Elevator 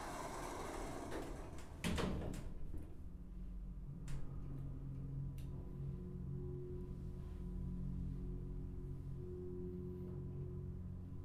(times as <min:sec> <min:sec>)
0:00.0 0:03.2